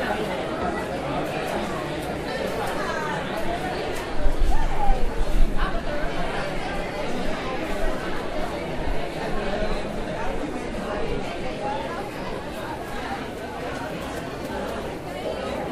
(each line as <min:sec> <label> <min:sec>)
0:00.0 Spanish speaking students 0:15.7